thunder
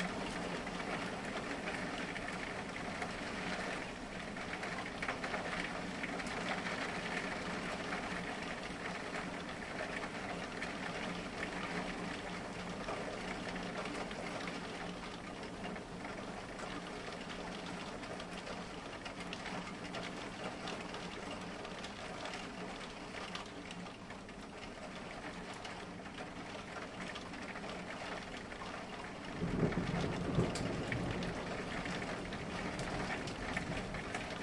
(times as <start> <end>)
29.3 34.4